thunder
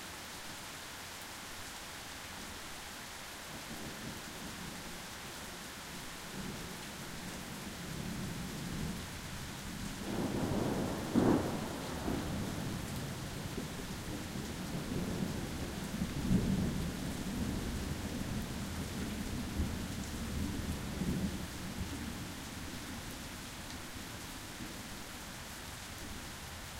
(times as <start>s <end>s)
10.0s 12.8s